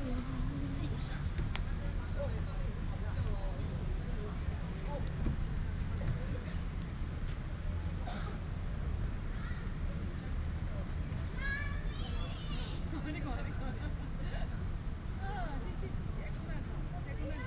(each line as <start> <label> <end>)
0.0 Traffic sound 13.1
11.4 Child 12.8